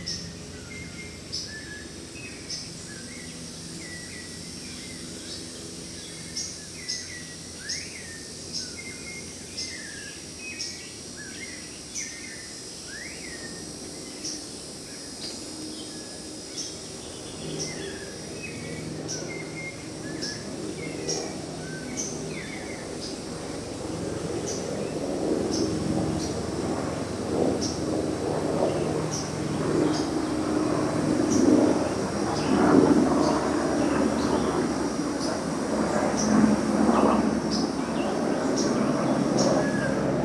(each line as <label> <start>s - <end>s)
variety of birds 0.0s - 40.2s